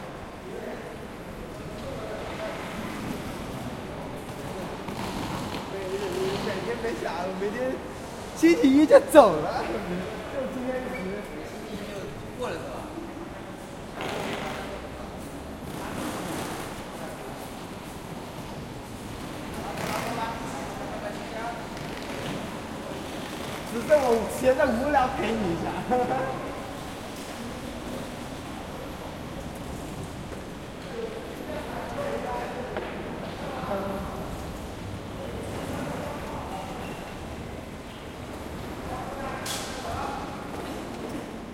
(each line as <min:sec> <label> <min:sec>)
0:00.0 crowd 0:41.5
0:12.2 Train 0:19.6
0:26.1 Train 0:31.9
0:34.1 Train 0:41.5